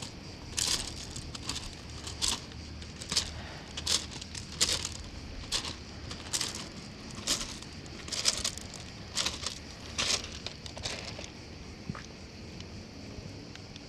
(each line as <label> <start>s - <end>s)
walking on the beach 0.0s - 11.3s